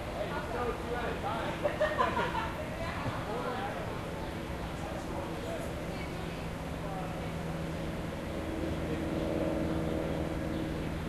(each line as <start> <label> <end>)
0.2 Male and female voices 7.4
8.6 birds and squirrels chirping 11.0